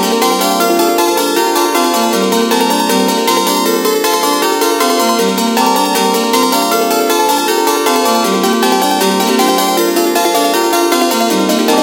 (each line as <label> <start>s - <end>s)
arp song 95 7.8s - 11.8s